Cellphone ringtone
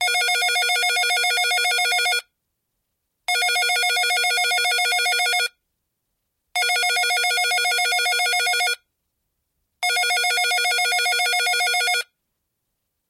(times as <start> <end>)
0.0 2.3, 3.3 5.6, 6.6 8.8, 9.8 12.1